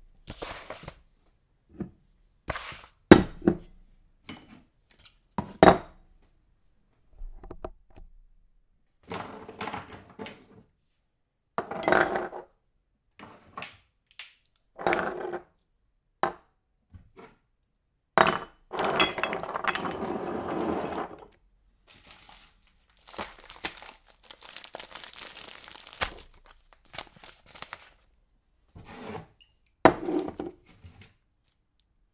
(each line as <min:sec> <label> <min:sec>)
0:18.2 Placing jars and food packets on the kitchen counter 0:20.2